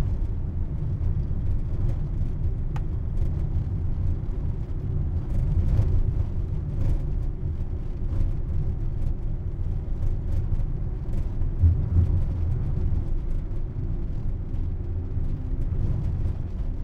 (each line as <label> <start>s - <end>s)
rattly driving bumpy road 0.0s - 16.8s